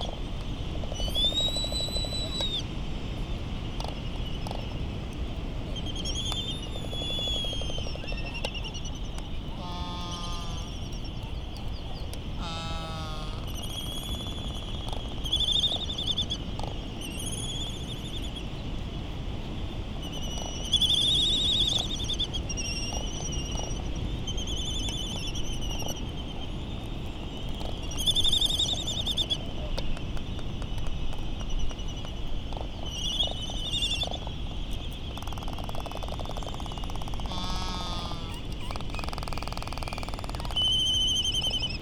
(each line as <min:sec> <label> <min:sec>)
0:00.0 island traffic noise 0:41.8
0:05.8 laysan calls 0:16.4
0:35.0 laysan calls 0:41.8